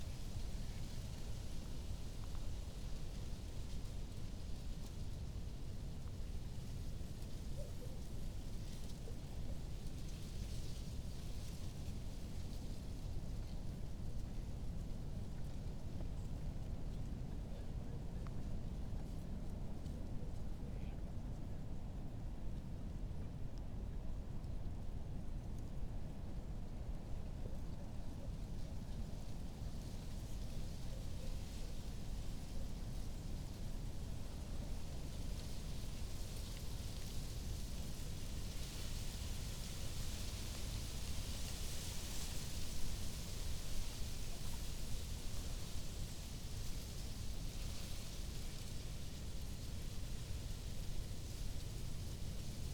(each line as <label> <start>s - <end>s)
reed rustling in the wind 26.6s - 52.7s